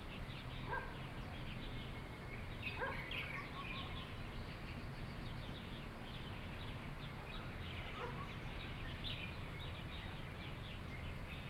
bird 0:00.0 - 0:11.4

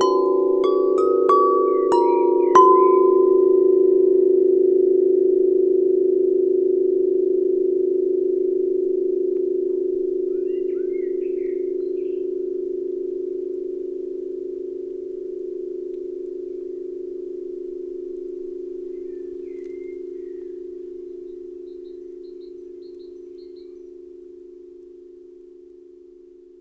steel tube hanging in a wooden frame 0:00.0 - 0:03.6

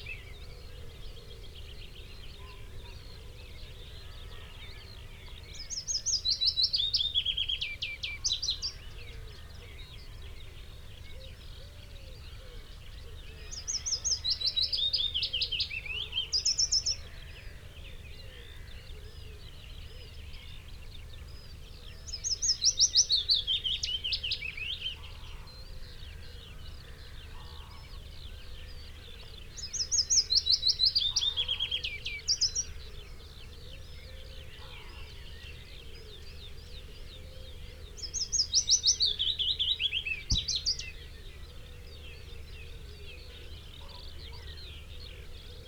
background noise 0:00.0 - 0:45.6
blackbird 0:00.0 - 0:45.6
pheasant 0:00.0 - 0:45.6
willow warbler song 0:00.0 - 0:45.6
song thrush 0:04.8 - 0:45.6
red-legged partridge 0:08.2 - 0:45.6
crow 0:25.1 - 0:28.1
crow 0:33.7 - 0:35.5
blue tit 0:37.9 - 0:41.3

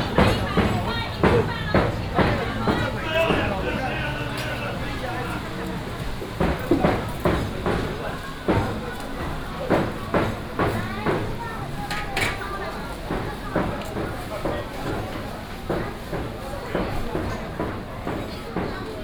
vendors peddling 0:00.0 - 0:11.8
traffic sound 0:00.0 - 0:14.6

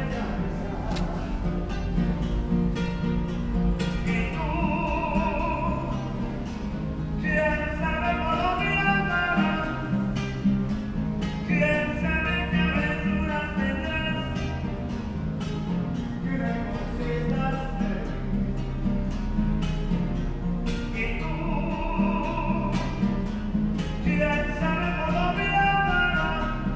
L-train station singer 0:00.0 - 0:02.6
L-train station singer 0:03.4 - 0:10.3
L-train station singer 0:24.0 - 0:26.7

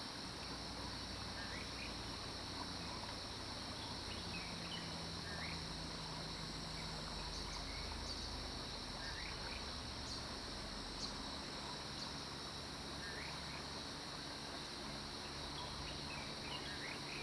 Stream 0:00.0 - 0:17.2

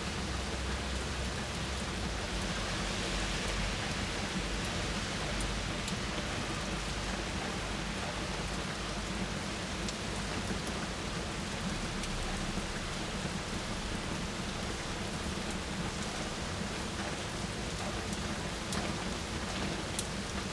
rain and drops on the balcony 0:00.0 - 0:20.5

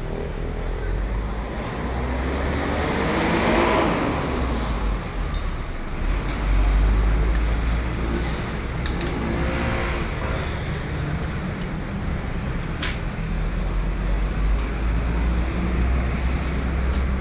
traffic noise 0:00.0 - 0:17.2

